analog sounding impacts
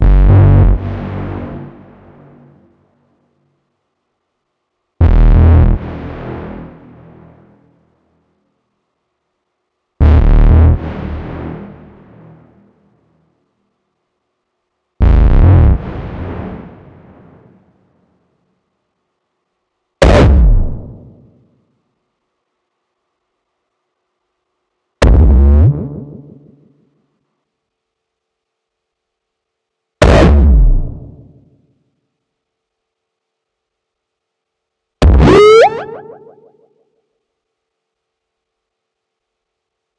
35.0s 36.6s

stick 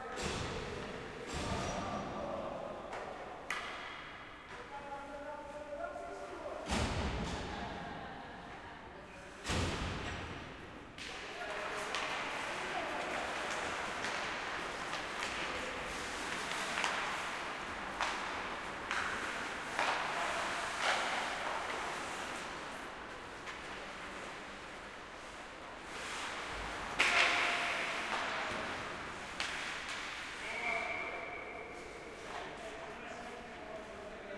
13.4s 22.6s, 26.9s 30.4s

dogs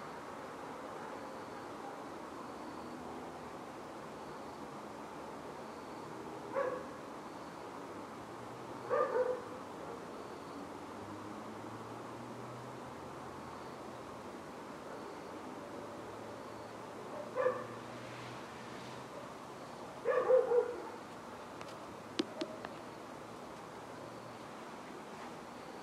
6.5s 6.9s, 8.9s 10.1s, 17.1s 17.8s, 20.0s 21.0s

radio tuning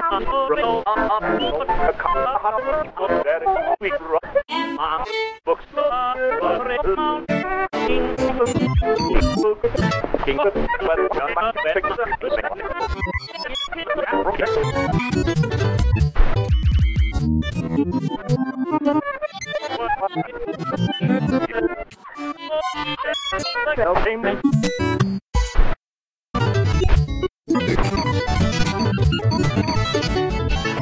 8.2s 15.2s, 27.5s 30.0s

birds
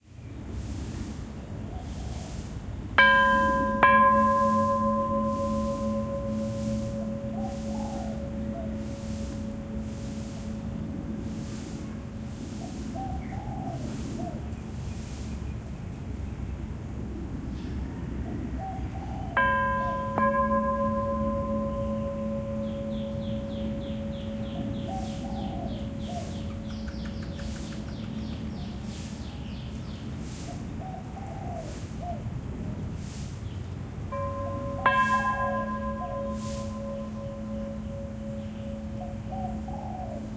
12.4s 15.6s, 18.6s 32.2s, 34.2s 40.3s

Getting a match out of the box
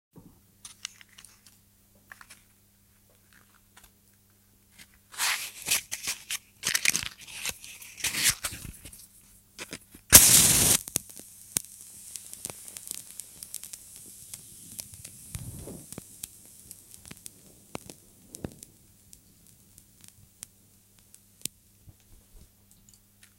4.7s 22.2s

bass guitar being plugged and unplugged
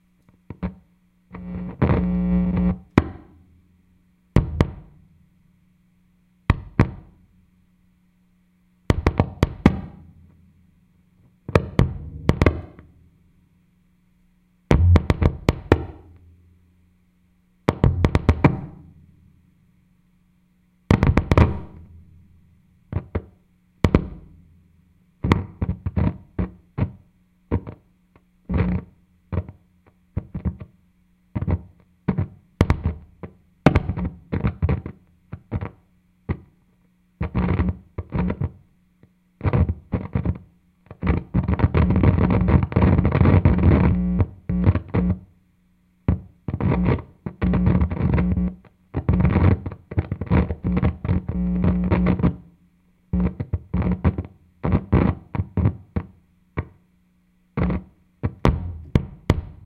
4.4s 5.0s, 8.9s 10.4s, 11.5s 12.9s, 14.7s 16.4s, 17.7s 19.0s, 20.9s 22.1s, 22.9s 24.5s, 57.6s 59.6s

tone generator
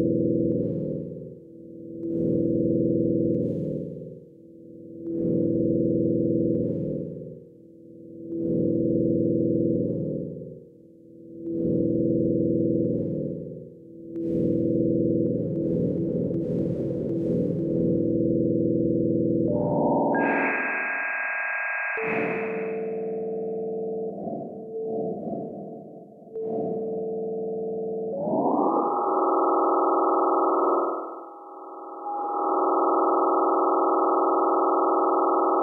15.6s 33.6s

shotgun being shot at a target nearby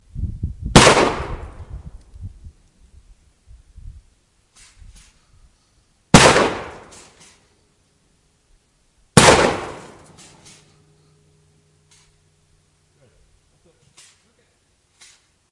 0.7s 1.6s, 6.1s 7.4s, 9.2s 10.6s

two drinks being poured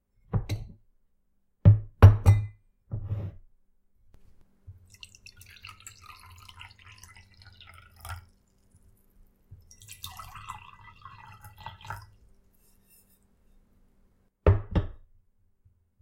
4.8s 12.5s

